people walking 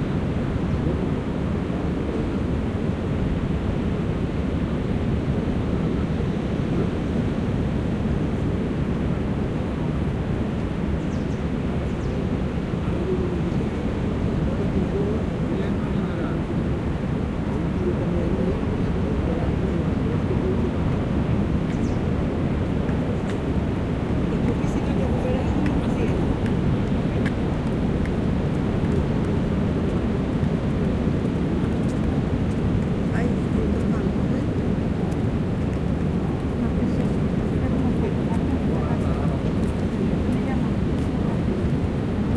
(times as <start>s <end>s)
22.6s 42.3s